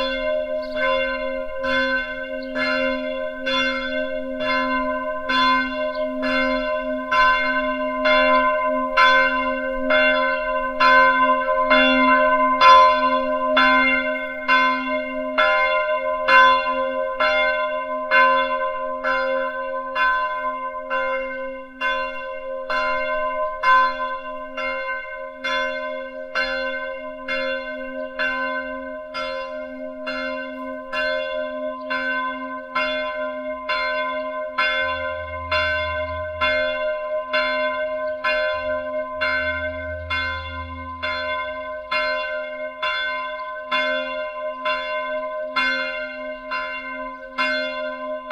noon bells 0:00.0 - 0:48.3

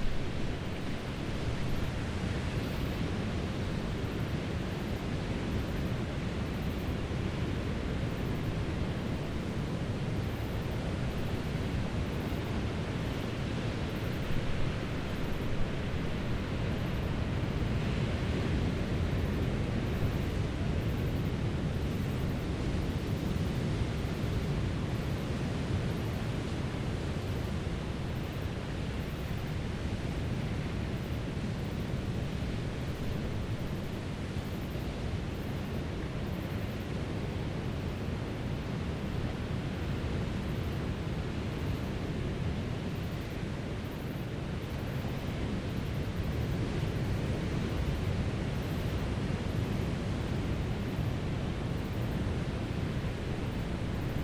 insects 0:00.0 - 0:54.2

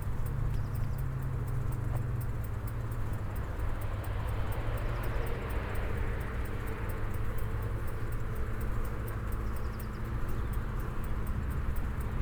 walking the food path along the station rails 0:00.0 - 0:12.2

